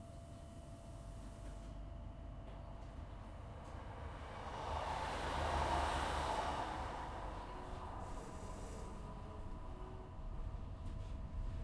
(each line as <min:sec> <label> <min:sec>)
0:00.0 interior train 0:11.6
0:02.9 other train passes 0:11.6